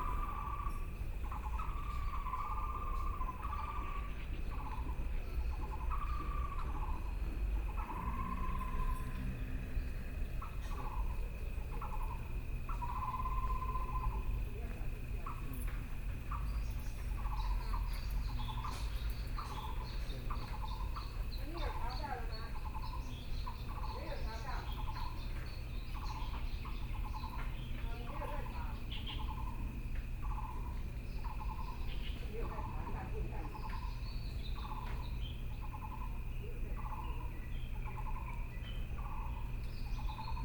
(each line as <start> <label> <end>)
0.0 Birdsong 40.4
0.0 Frogs sound 40.4
0.0 Insects sound 40.4
7.2 Traffic Sound 23.3